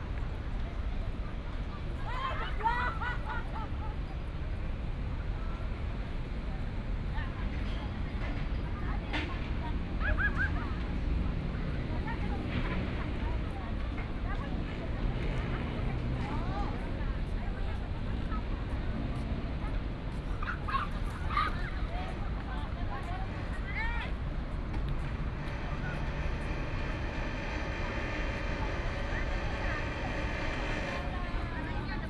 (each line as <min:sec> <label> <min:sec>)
0:21.9 Traffic sound 0:32.0
0:23.2 Construction sound 0:32.0